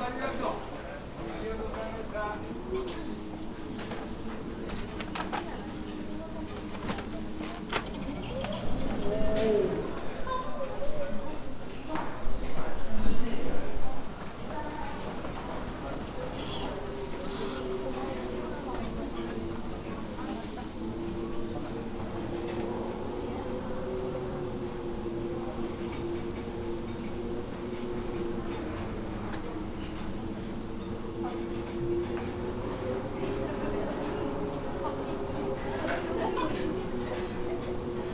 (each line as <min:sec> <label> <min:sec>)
0:00.0 many people around waiting in lines 0:38.1